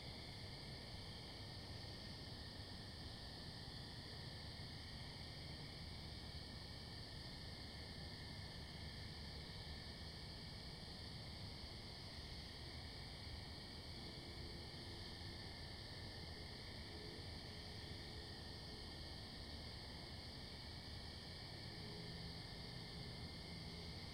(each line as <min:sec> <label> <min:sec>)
0:00.0 Night Crickets 0:24.1